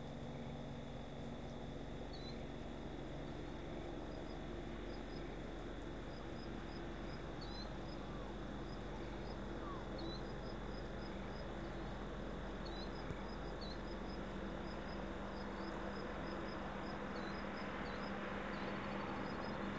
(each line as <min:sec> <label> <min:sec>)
0:00.1 helicopter flying in 0:19.7